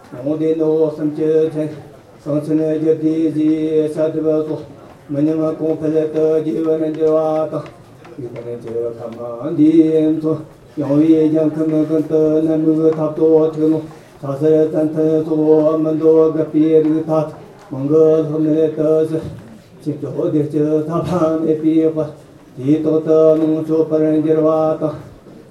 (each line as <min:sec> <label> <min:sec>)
0:00.0 Buddhist chants 0:25.5